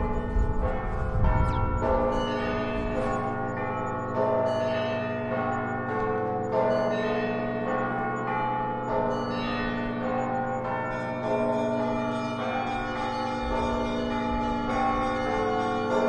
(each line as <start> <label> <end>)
0.0 wind noise 3.4
0.0 church bells 16.0